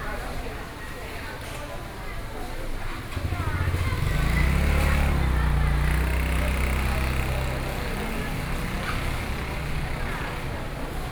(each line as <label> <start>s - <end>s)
Traffic Sound 3.2s - 11.1s